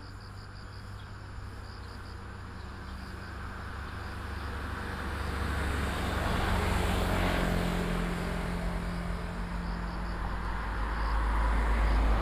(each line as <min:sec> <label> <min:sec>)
0:03.4 traffic sound 0:12.2
0:07.6 Insect sounds 0:12.2